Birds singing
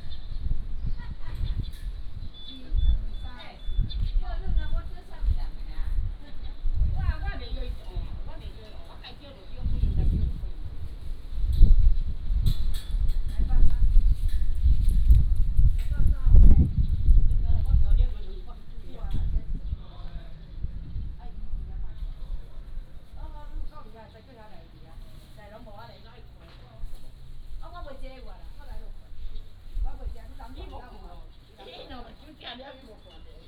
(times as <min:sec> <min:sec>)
0:00.0 0:07.7, 0:16.4 0:21.4, 0:29.2 0:33.4